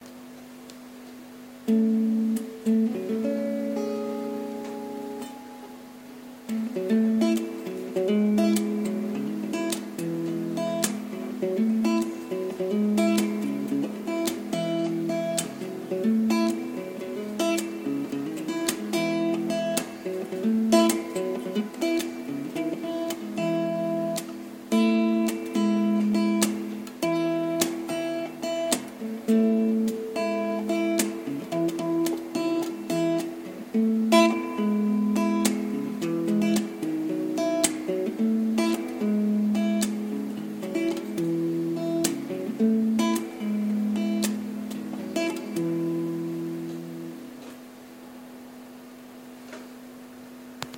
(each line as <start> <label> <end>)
1.5 Uneek guitar experiments 48.0